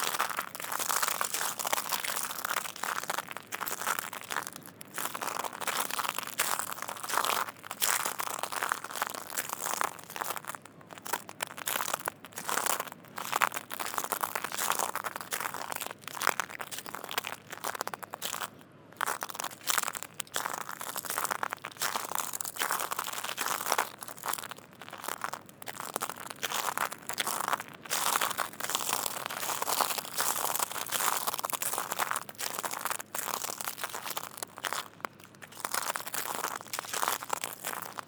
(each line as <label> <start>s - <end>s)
Walking on shells 0.0s - 38.0s